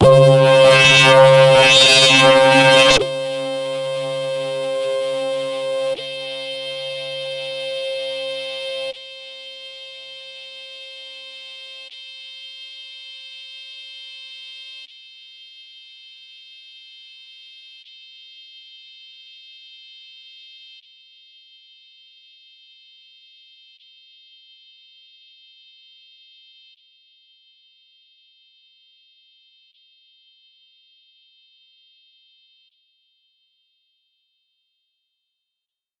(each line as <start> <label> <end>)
0.0 SHARP HARMONIC SWEEP with fading high pass 9.0